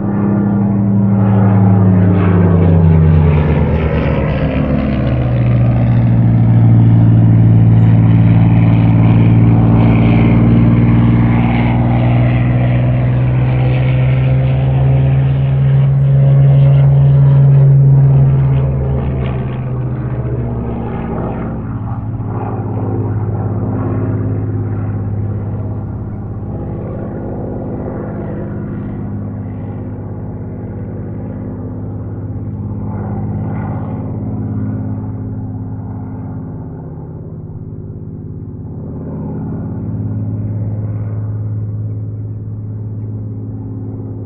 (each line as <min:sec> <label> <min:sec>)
0:00.0 WW2 Spitfire above my house performing an aerobatic display 0:44.2